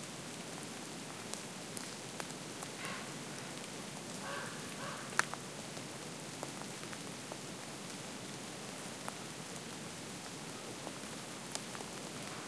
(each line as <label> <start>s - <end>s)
raindrops 0.0s - 12.4s